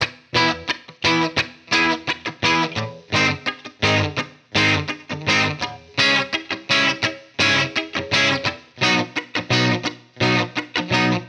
Guitar Chord Progression 0:00.0 - 0:11.2

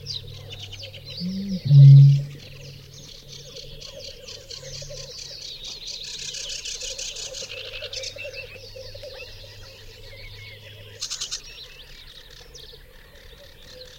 Bittern bellows in a canebrake 0:01.2 - 0:02.8

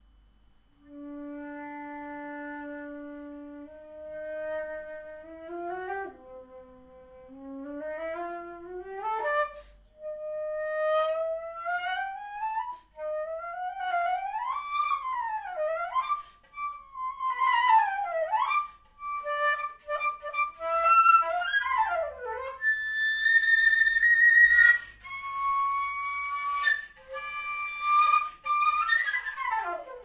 girl playing the german flute 0:00.8 - 0:30.0

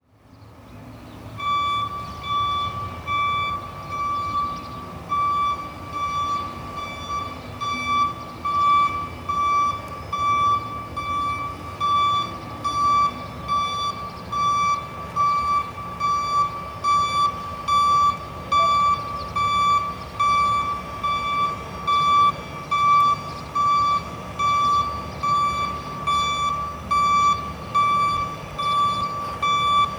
beep of a heavy truck reversing 0:00.8 - 0:29.9

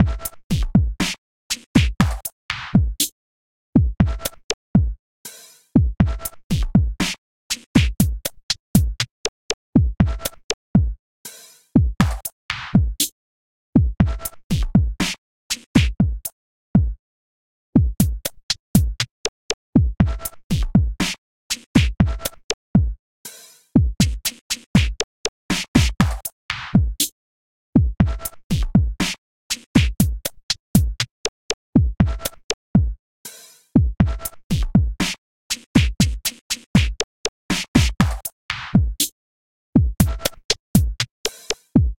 cooldrum Song 0:23.3 - 0:27.0
cooldrum Song 0:29.8 - 0:39.1
cooldrum Song 0:39.8 - 0:41.9

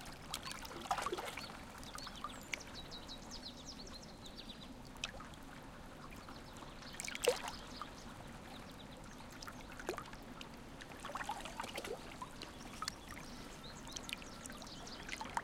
birds in background 0:00.5 - 0:04.8
birds in background 0:05.8 - 0:10.4
birds in background 0:11.0 - 0:15.4

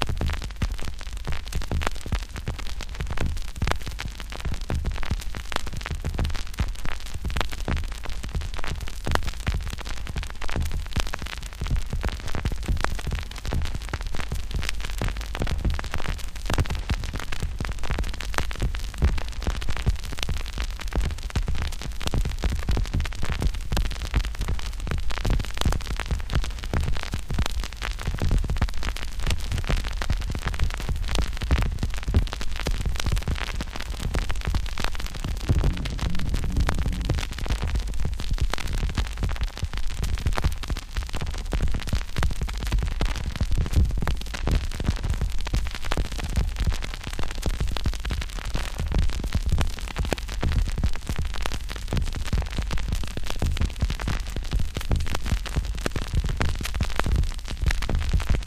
Repeating vinyl crackle 0:00.0 - 0:58.4

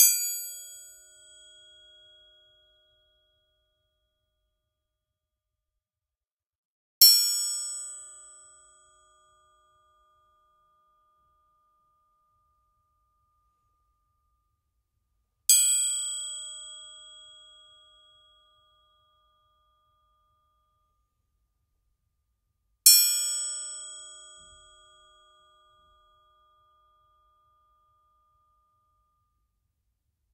triangle - musical instrument 0:00.0 - 0:04.4
triangle - musical instrument 0:22.8 - 0:29.8

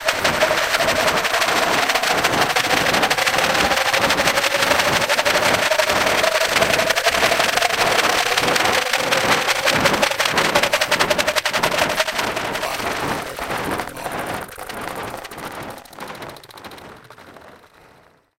small skin shaker 0:00.0 - 0:18.0

